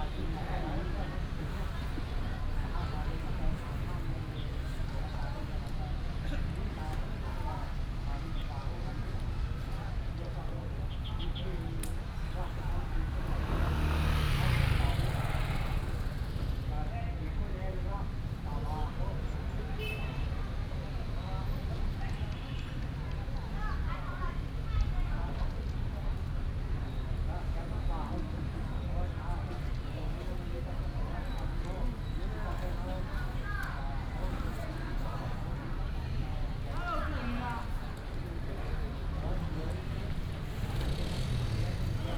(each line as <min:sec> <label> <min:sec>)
0:00.0 Many old people, Use a variety of different languages in conversation 0:42.1
0:21.7 Walking in the park 0:42.1